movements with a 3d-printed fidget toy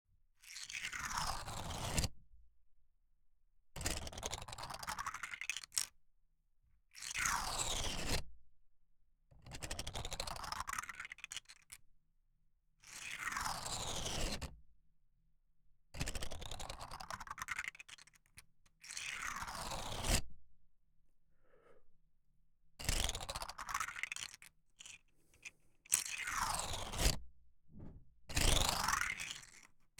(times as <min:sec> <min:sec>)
0:23.1 0:27.2, 0:27.8 0:29.7